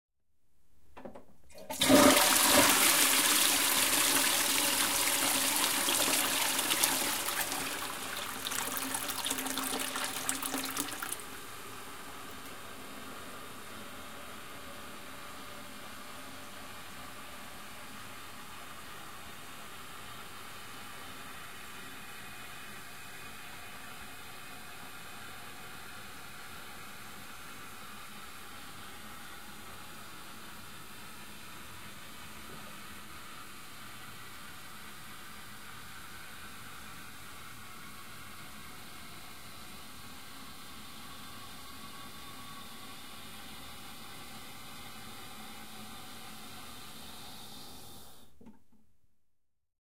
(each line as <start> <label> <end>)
1.5 Toilet WaterFlushing 11.6